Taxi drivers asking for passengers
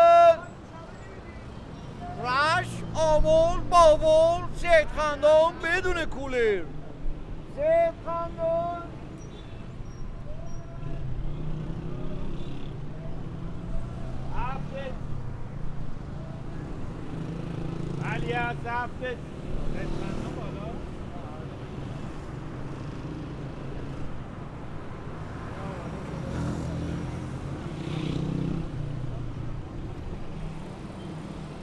0.0s 12.3s, 12.9s 24.7s

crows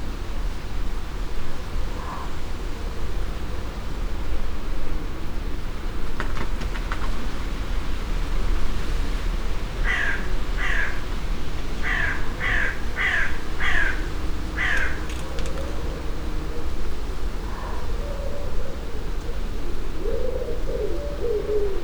9.8s 11.1s, 11.8s 15.8s

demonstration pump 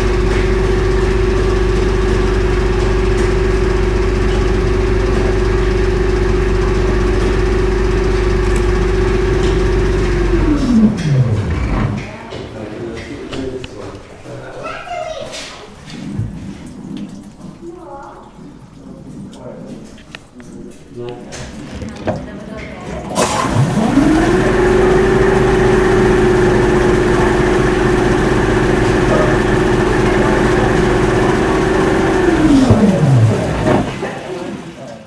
0.0s 12.2s, 23.1s 34.2s

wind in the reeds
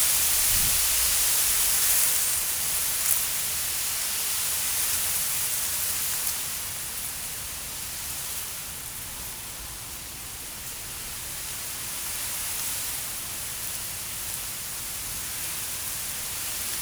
0.0s 2.5s

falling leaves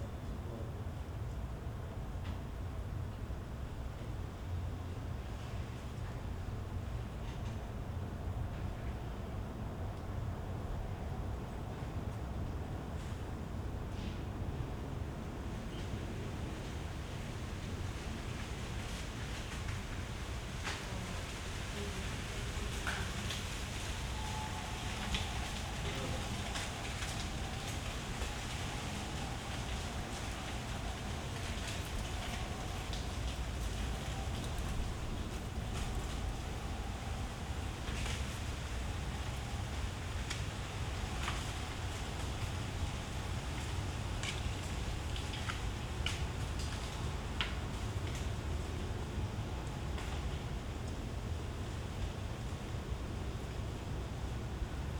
15.4s 52.8s

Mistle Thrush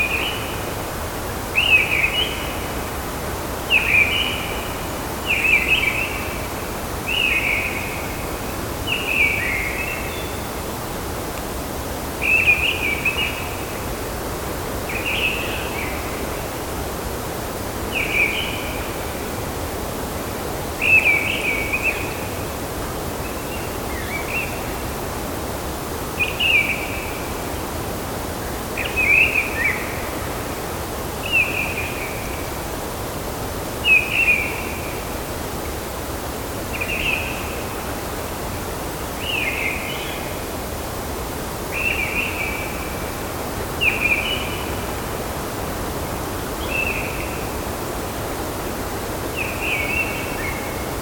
0.0s 0.7s, 1.4s 3.0s, 3.6s 10.9s, 12.2s 14.1s, 14.9s 16.6s, 17.8s 19.3s, 20.8s 22.6s, 23.2s 25.1s, 26.1s 27.7s, 28.4s 30.4s, 31.2s 32.6s, 33.8s 35.1s, 36.7s 37.9s, 38.9s 40.5s, 41.6s 47.7s, 49.0s 51.0s

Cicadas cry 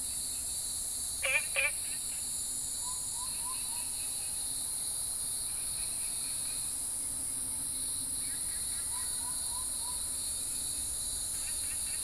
1.2s 2.1s

